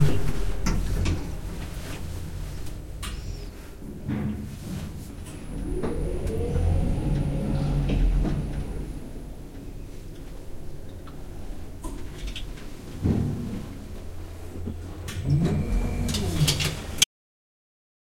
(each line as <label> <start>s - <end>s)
old lift door opening and closing 0.0s - 3.7s
lift goes down 2 floors 0.0s - 17.1s